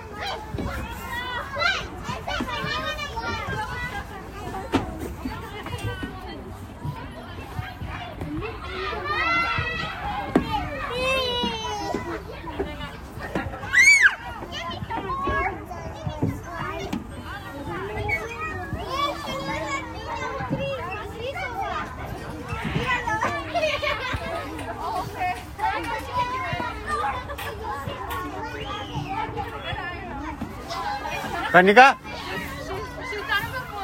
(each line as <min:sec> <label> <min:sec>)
0:00.0 Kids Playing 0:33.8